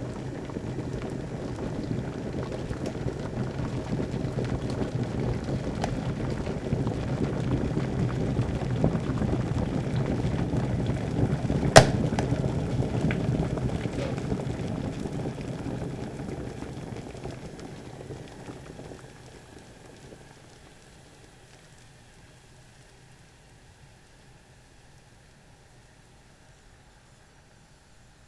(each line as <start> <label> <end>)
0.0 boil water 28.2